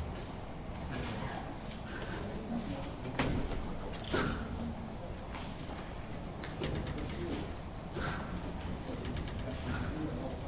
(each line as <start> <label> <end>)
3.0 door sounds 4.4
3.9 dutch voices 10.4
6.2 door sounds 10.1